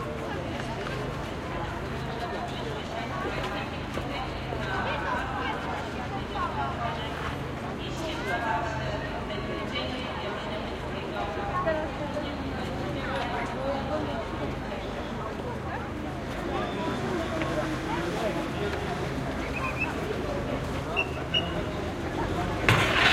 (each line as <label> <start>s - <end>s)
noise of traffic 0.0s - 23.1s
passing by people 0.0s - 23.1s
whistle of policeman 21.0s - 21.7s